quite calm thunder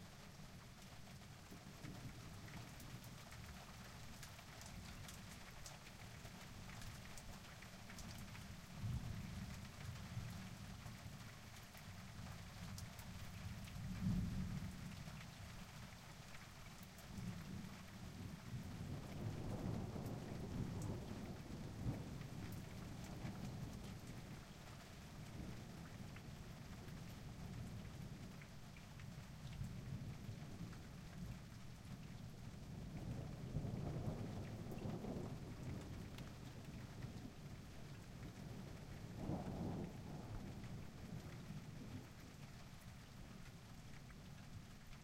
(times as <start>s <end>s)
17.1s 28.7s, 29.3s 45.0s